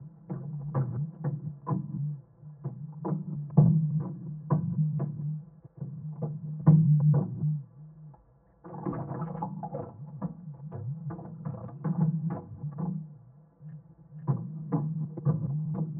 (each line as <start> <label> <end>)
0.1 Plastic container filled with water 15.9